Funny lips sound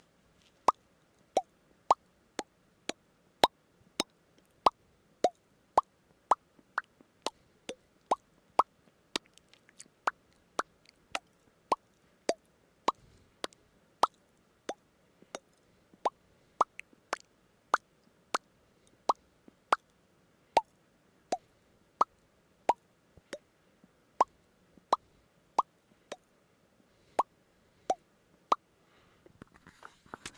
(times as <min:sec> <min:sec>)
0:08.1 0:14.2, 0:19.1 0:19.9